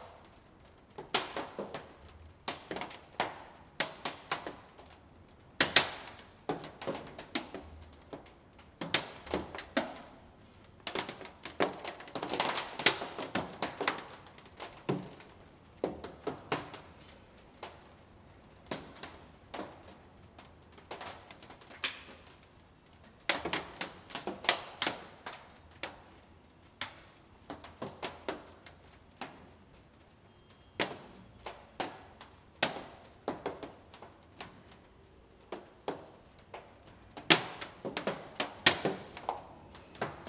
Rain dripping on plastic 0:00.0 - 0:40.2

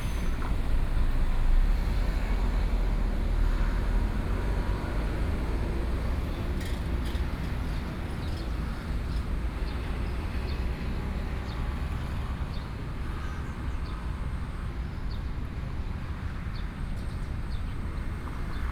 Traffic Sound 0:00.0 - 0:12.4

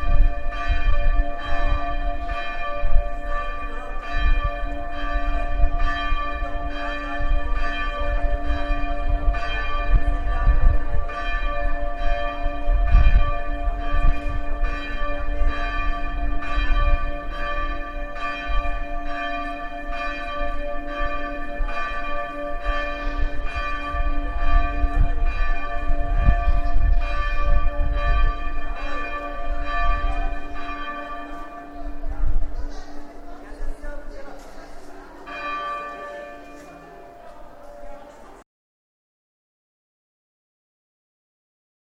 Bells ringing 0:00.0 - 0:38.4

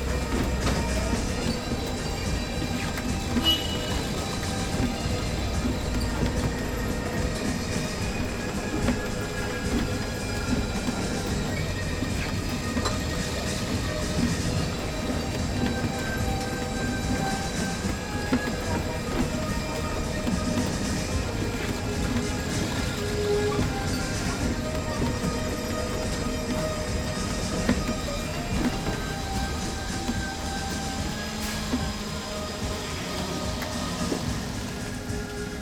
machine noise of a little merry-go-round 0:00.0 - 0:35.6

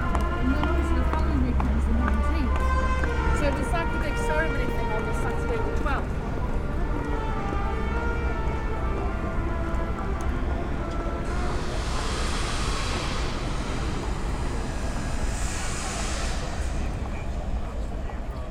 Buskers 0:00.0 - 0:18.5

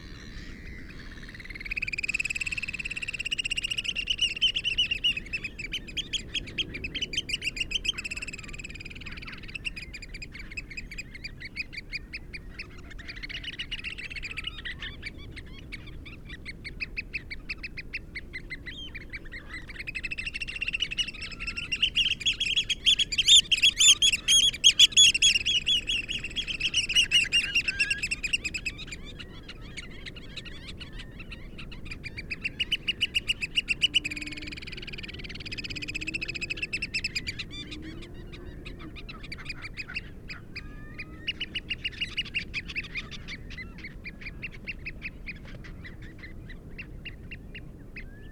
crow 0:00.0 - 0:01.7
curlew 0:00.0 - 0:48.3

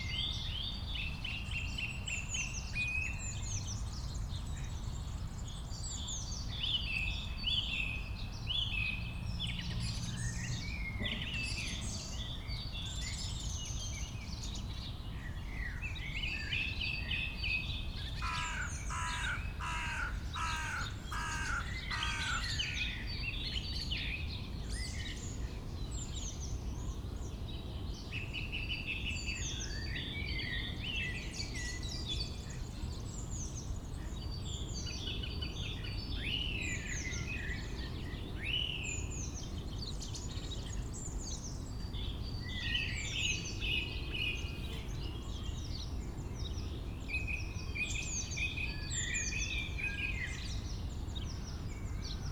many bird live here 0:18.2 - 0:23.6
many bird live here 0:35.3 - 0:52.3

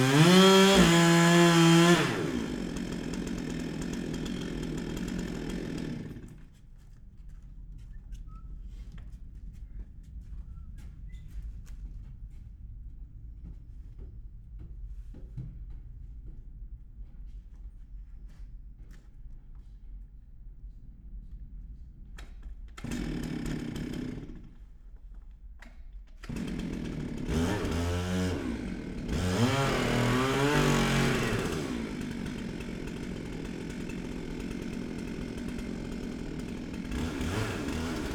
Workers cutting down a tree 0:00.0 - 0:06.5
Workers cutting down a tree 0:22.2 - 0:24.7
Workers cutting down a tree 0:26.2 - 0:38.1

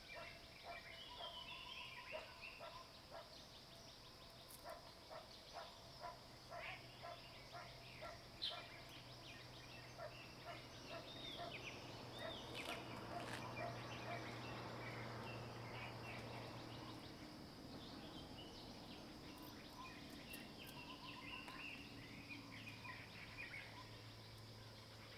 Frogs chirping 0:05.1 - 0:25.1
Bird calls 0:06.5 - 0:24.1

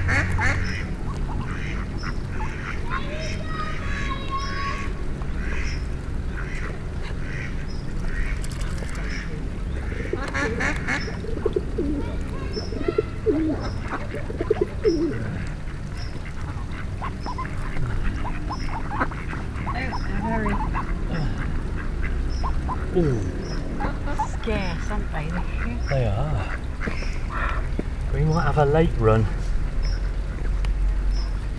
ducks 0:00.0 - 0:31.5
pigeons 0:00.0 - 0:31.5

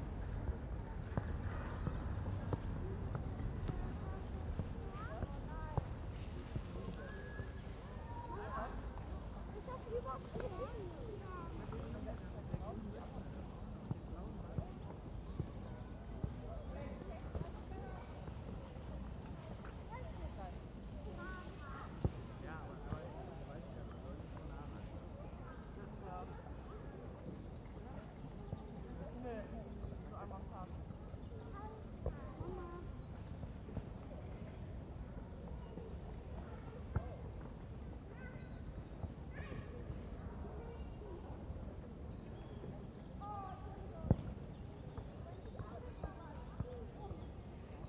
Birds are singing 0:00.0 - 0:47.8
wind 0:00.0 - 0:47.8

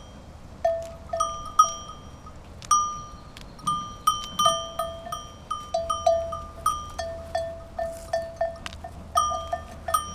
animals walking near the microphone 0:00.0 - 0:10.1
Sheep and Goats 0:00.7 - 0:10.1

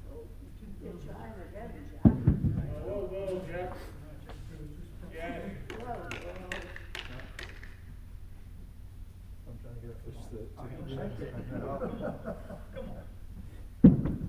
voices 0:00.0 - 0:08.0
voices 0:09.4 - 0:13.5

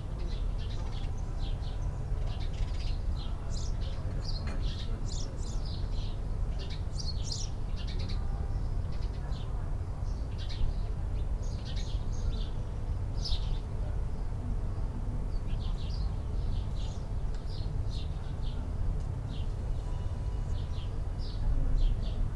Sparrows 0:00.0 - 0:22.3
low background drone of traffic 0:00.0 - 0:22.3

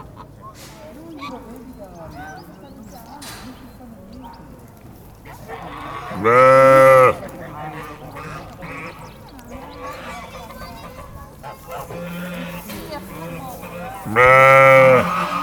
Animali 0:00.0 - 0:15.4

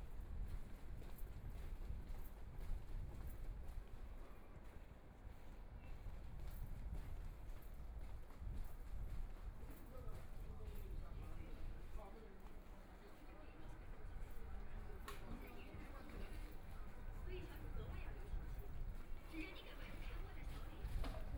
Walking in the roadway 0:00.0 - 0:21.3

